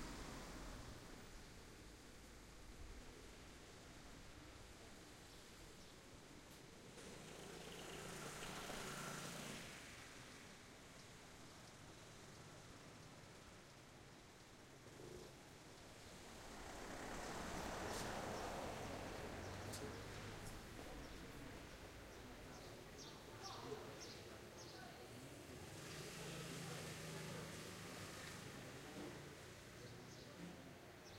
traffic 0:00.0 - 0:31.1

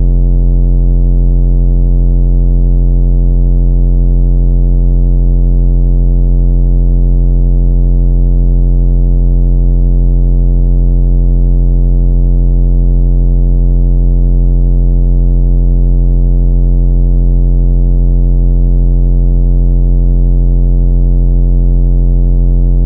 bass 0:00.0 - 0:00.6
bass 0:22.6 - 0:22.8

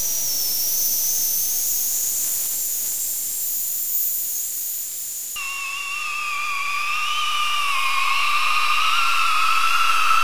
ambient space drone 0:00.0 - 0:10.2

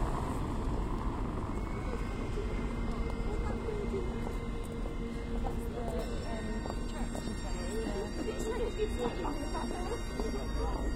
passing traffic 0:00.0 - 0:10.9
pedestrians 0:00.0 - 0:10.9
Bagpipe player busking 0:01.5 - 0:10.9

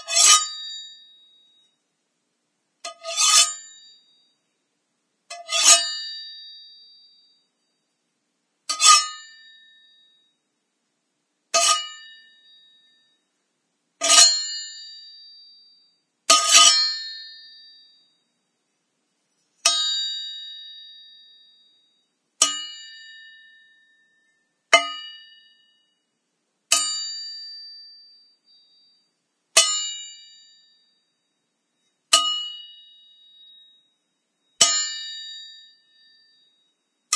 blade clanging against metal 0:00.0 - 0:00.9
blade clanging against metal 0:02.9 - 0:03.8
blade clanging against metal 0:05.3 - 0:06.3
blade clanging against metal 0:08.7 - 0:09.6
blade clanging against metal 0:11.6 - 0:12.3
blade clanging against metal 0:14.0 - 0:14.8
blade clanging against metal 0:16.3 - 0:17.3
blade clanging against metal 0:19.6 - 0:20.7
blade clanging against metal 0:22.4 - 0:25.4
blade clanging against metal 0:26.7 - 0:27.6
blade clanging against metal 0:29.6 - 0:30.3
blade clanging against metal 0:32.1 - 0:32.7
blade clanging against metal 0:34.6 - 0:35.6

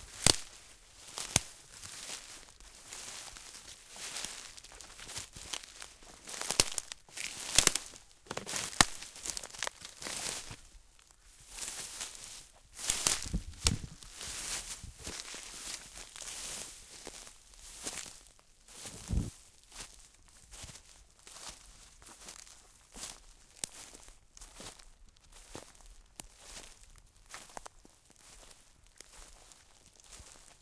Soft walking through very dry leaves and twigs 0:00.0 - 0:30.6

